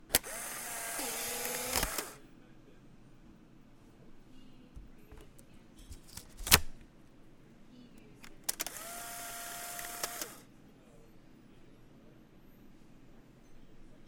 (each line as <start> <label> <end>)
0.0 Shooting a Polaroid 600 series camera 2.2
6.0 Shooting a Polaroid 600 series camera 6.8
8.2 Shooting a Polaroid 600 series camera 10.5